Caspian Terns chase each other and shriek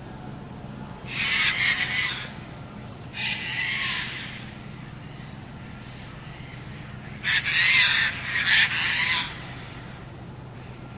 0:01.1 0:02.4, 0:03.2 0:04.5, 0:07.2 0:09.7

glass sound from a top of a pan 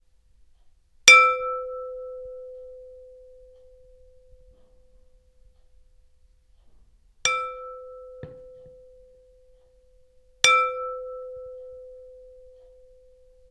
0:07.3 0:08.7

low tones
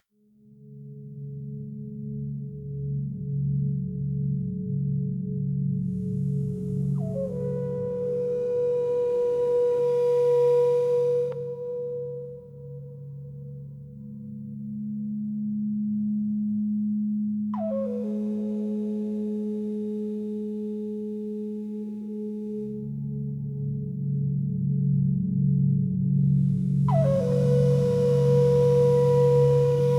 0:26.7 0:29.9

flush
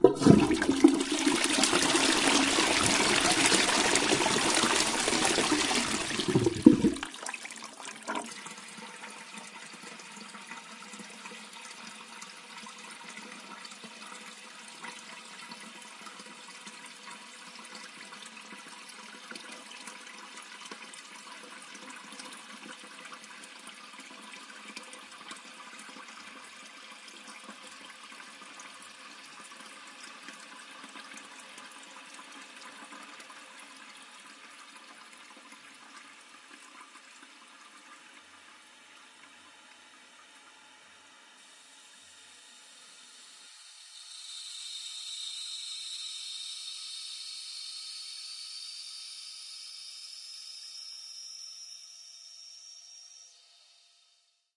0:00.0 0:24.8, 0:41.4 0:49.5

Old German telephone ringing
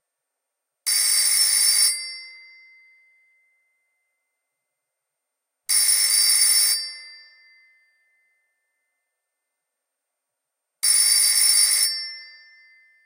0:00.9 0:02.4, 0:05.7 0:07.2, 0:10.8 0:13.0

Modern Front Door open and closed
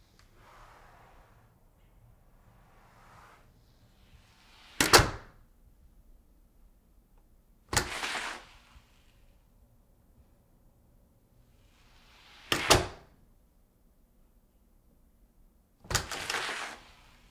0:04.5 0:05.4, 0:07.7 0:08.4, 0:12.4 0:13.1, 0:15.9 0:17.0

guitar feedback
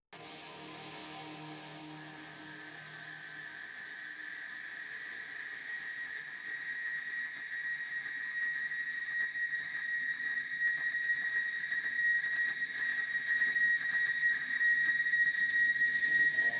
0:00.2 0:07.6, 0:11.0 0:16.5

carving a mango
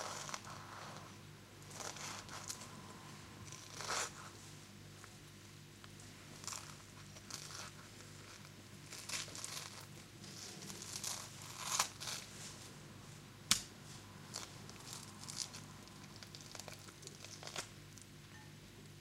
0:03.4 0:04.2, 0:06.4 0:12.3

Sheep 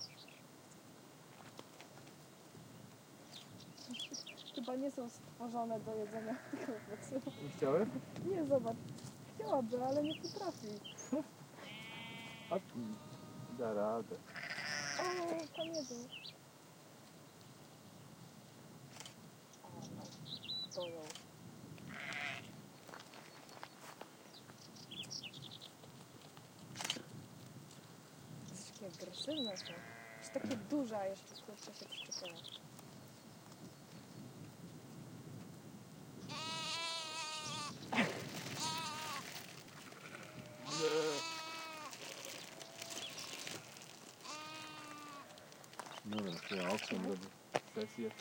0:05.9 0:08.2, 0:11.6 0:13.6, 0:14.3 0:16.1, 0:21.8 0:24.0, 0:29.4 0:30.6, 0:36.3 0:48.2

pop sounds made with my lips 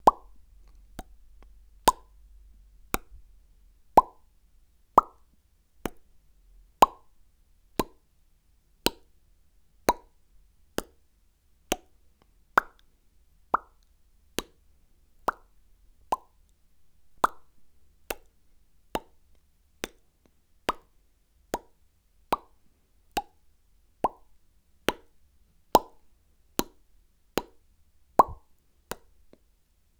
0:00.0 0:02.2, 0:02.9 0:03.2, 0:04.0 0:04.3, 0:05.0 0:06.0, 0:06.8 0:07.1, 0:07.8 0:08.0, 0:09.9 0:10.2, 0:11.7 0:11.9, 0:12.6 0:12.9, 0:13.5 0:13.8, 0:15.3 0:15.5, 0:16.1 0:16.4, 0:17.2 0:18.3, 0:19.0 0:19.2, 0:20.7 0:20.9, 0:21.5 0:22.6, 0:23.2 0:23.4, 0:24.0 0:24.3, 0:25.8 0:26.0, 0:26.6 0:26.8, 0:27.4 0:27.6, 0:28.2 0:29.1

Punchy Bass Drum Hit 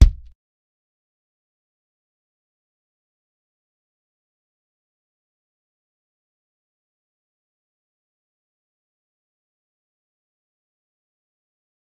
0:00.0 0:00.3

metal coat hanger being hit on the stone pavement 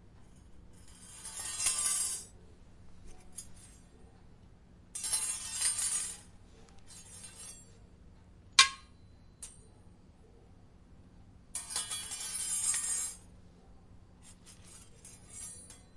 0:05.0 0:06.3, 0:08.5 0:09.6

